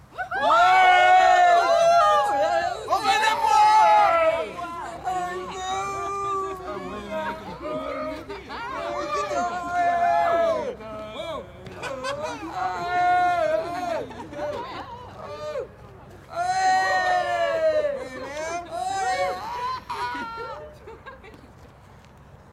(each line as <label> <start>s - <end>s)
group of people (+/- 7 persons) cheering 0.1s - 10.8s
group of people (+/- 7 persons) cheering 11.8s - 15.7s
group of people (+/- 7 persons) cheering 16.3s - 20.8s